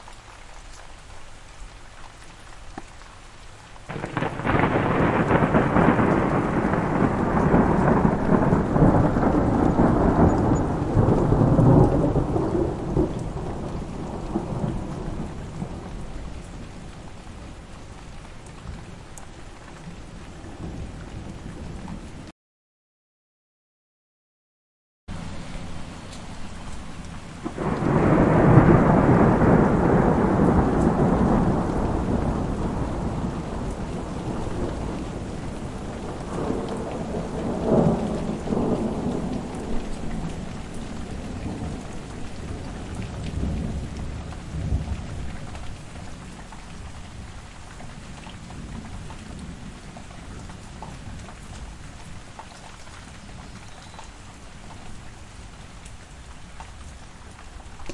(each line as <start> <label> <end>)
0.0 rain 22.3
3.9 Thunder Sounds 16.1
25.1 rain 57.9
27.4 Thunder Sounds 45.4